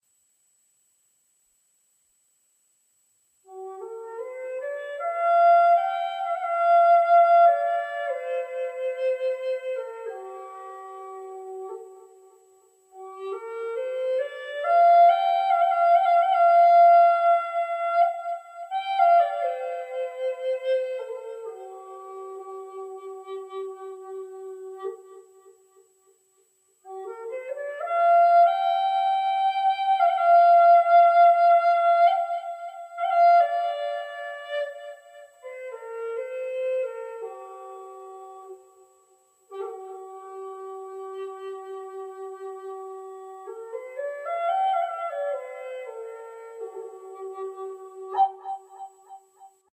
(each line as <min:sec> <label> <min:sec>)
0:03.4 flute 0:26.2
0:26.8 flute 0:49.7